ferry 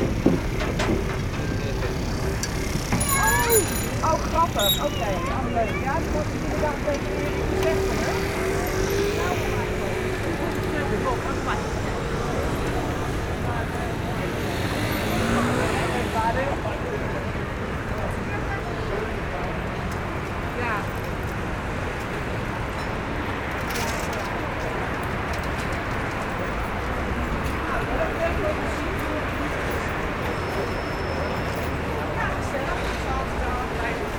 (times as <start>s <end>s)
0.0s 7.4s